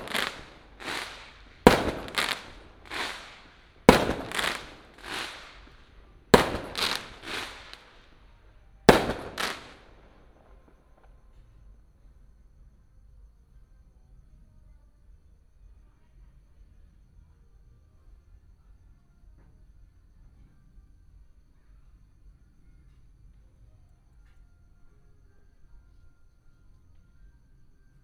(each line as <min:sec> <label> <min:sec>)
0:00.0 fireworks 0:08.2
0:00.0 Firecrackers 0:10.8
0:08.9 fireworks 0:10.7